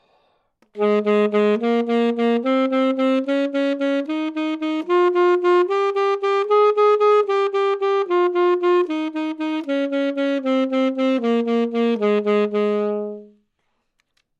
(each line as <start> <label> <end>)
0.6 Sax Alto 13.5